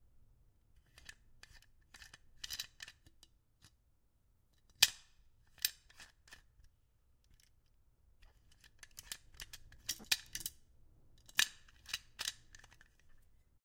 Metal Flask Twisting Open and Closed 8.3 - 10.6

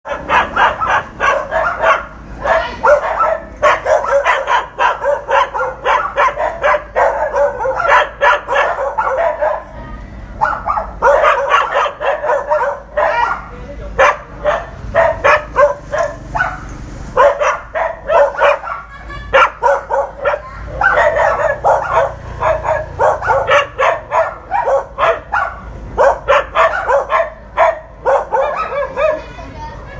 3 dogs bark 0.0 - 29.3

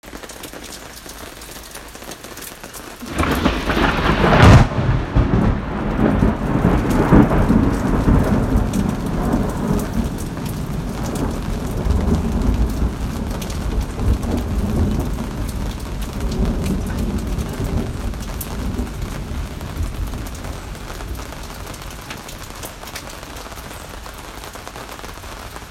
Light rain 0.0 - 25.7
loud thunderclap 3.0 - 22.7

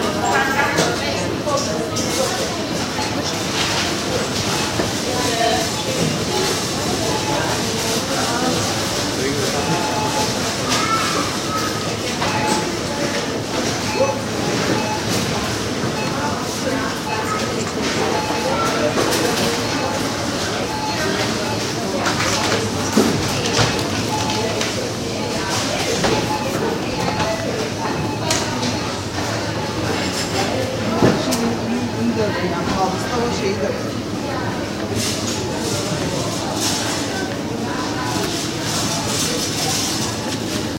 checkout 0.0 - 40.7
voices 0.0 - 40.7

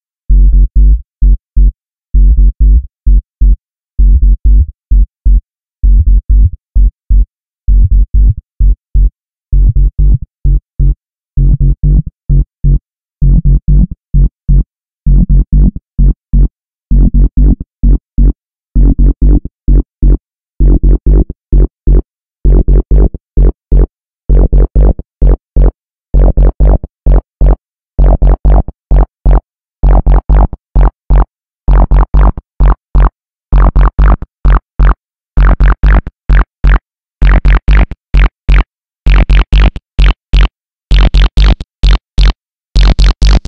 bass 0.0 - 43.4

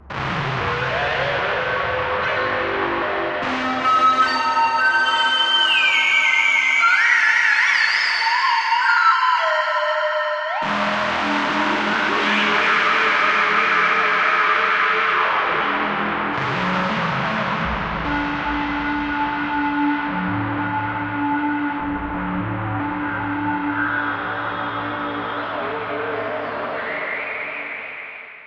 Time-Stretched Electric Guitar 0.0 - 28.2

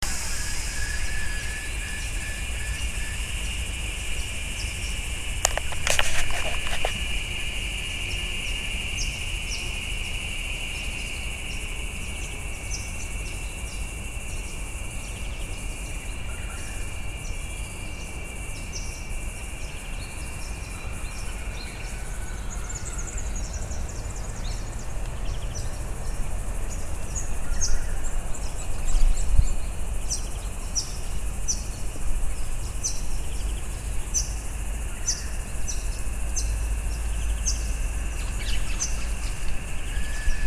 country town ambient noise 0.0 - 40.4
hum mixture of bees in trees 0.0 - 40.4
whispery shrill of cicadas 0.0 - 40.4
'doodli-oop' call of Peaceful Dove 0.0 - 10.2
twittering bird noises of Blue Wrens 0.0 - 40.4
walk 5.5 - 7.2

